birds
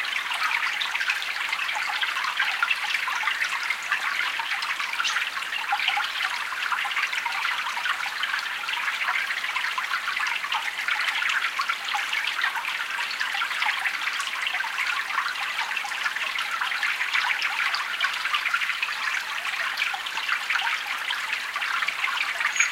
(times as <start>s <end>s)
3.3s 6.1s, 18.4s 22.7s